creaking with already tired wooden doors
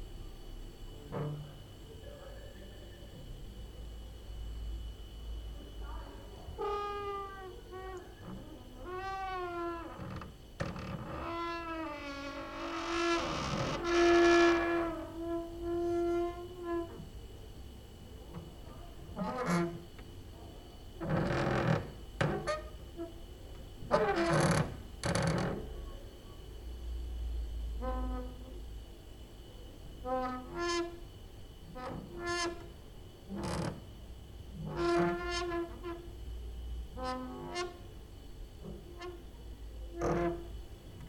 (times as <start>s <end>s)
1.0s 1.7s, 6.5s 17.2s, 18.2s 25.8s, 27.8s 28.6s, 30.0s 36.2s, 36.9s 38.0s, 38.6s 41.0s